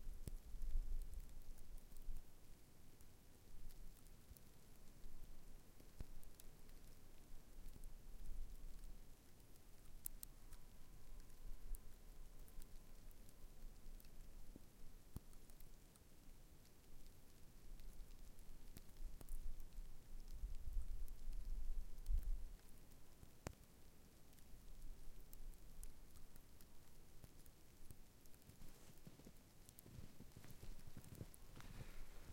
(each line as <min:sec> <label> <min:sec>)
0:26.0 fallingsnow windBACKLR 0:32.3
0:27.3 freezing snow 0:32.3